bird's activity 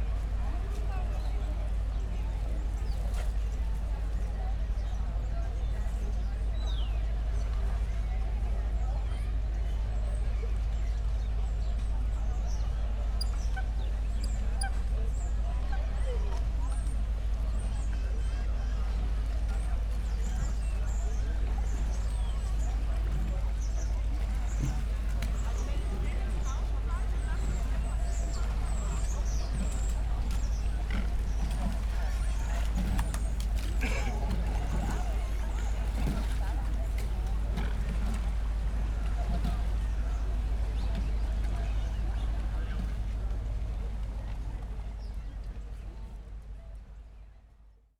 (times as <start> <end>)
20.0 41.2